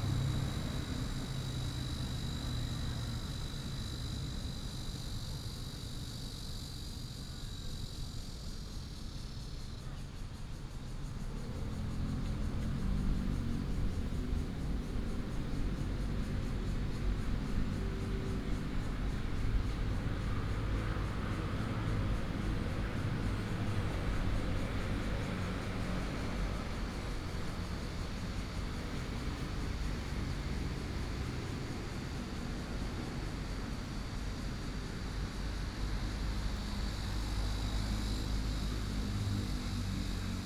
Cicada cry 0.0 - 40.4
traffic sound 10.6 - 40.4

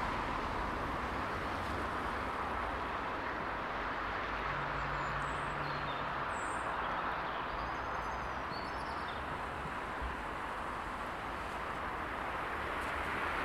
Rain 0.0 - 4.9
Traffic 0.0 - 13.4
Rain 9.2 - 13.4

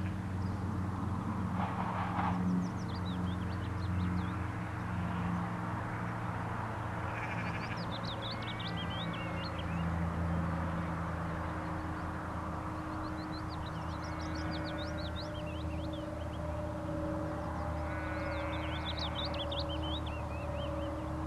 Cumbrian sheep 4.0 - 11.6
Cumbrian sheep 13.0 - 16.0
Cumbrian sheep 17.2 - 21.2

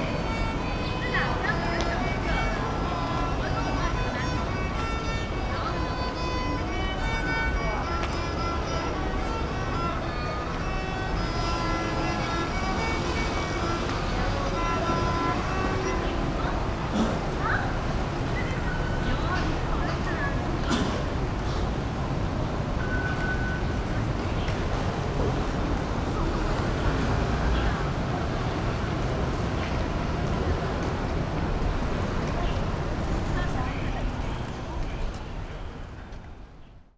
Taiwanese folk song 0.1 - 17.2

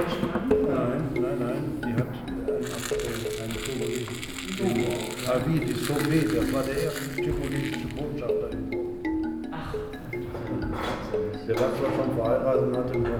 talking with interested listeners 0.9 - 10.1

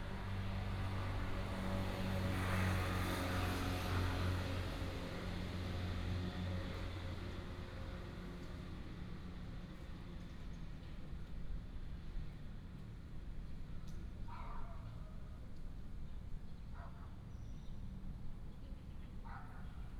Dog 14.3 - 15.2
Dog 16.7 - 17.2
Dog 19.2 - 19.8

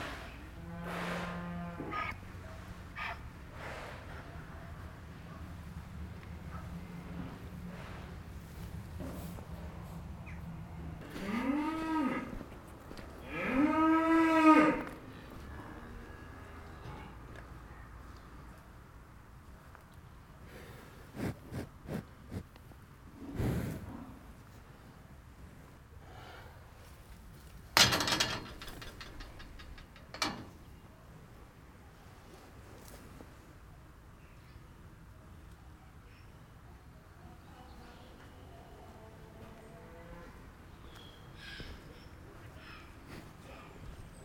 Cows are hungry as always 0.0 - 44.2

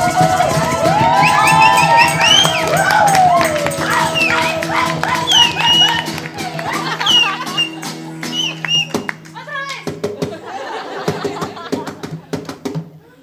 Singing Bella Chao 0.0 - 7.4

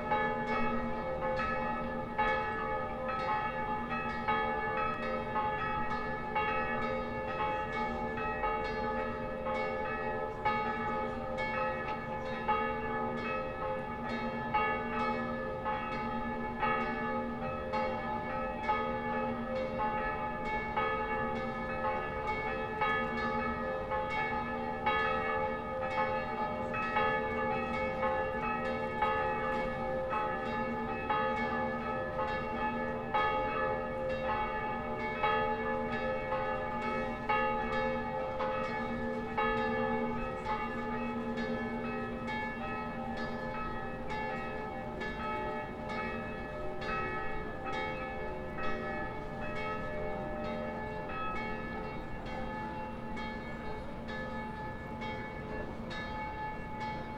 church bells of all churches 0.0 - 57.1

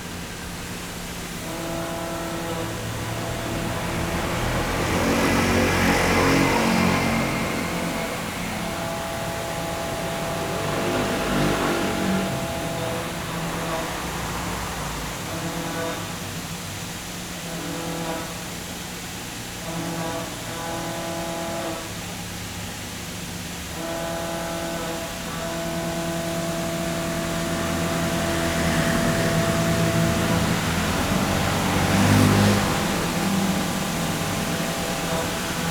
Traffic Sound 0.0 - 17.6
voice of the factory 0.0 - 35.7
Traffic Sound 24.4 - 35.7

